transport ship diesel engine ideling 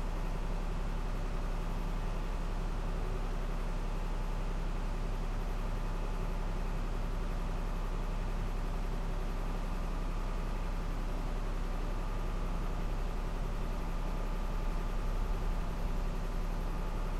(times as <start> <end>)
9.3 17.1